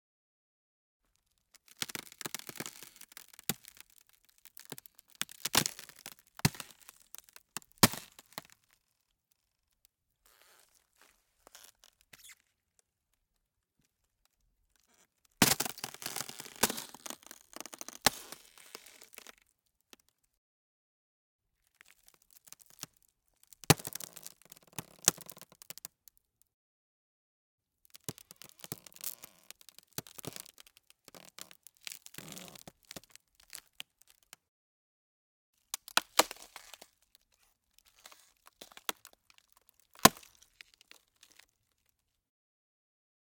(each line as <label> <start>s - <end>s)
Ice sheet about 8mm thick being slowly stepped on 1.6s - 8.6s
Ice sheet about 8mm thick being slowly stepped on 15.4s - 19.4s
Ice sheet about 8mm thick being slowly stepped on 35.8s - 37.1s
Ice sheet about 8mm thick being slowly stepped on 37.8s - 41.5s